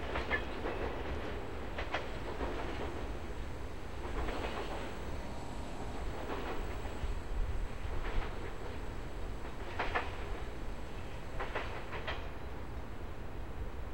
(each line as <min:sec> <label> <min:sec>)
0:00.0 freight train idling then passing by 0:13.9